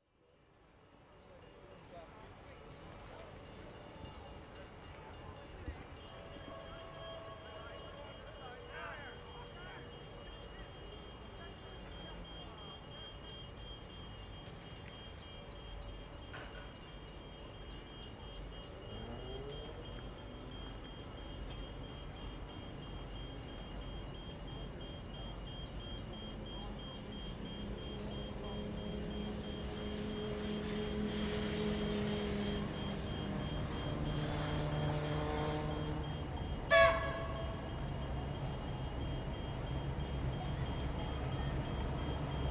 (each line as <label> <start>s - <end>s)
Freight Train Passing 0.8s - 42.5s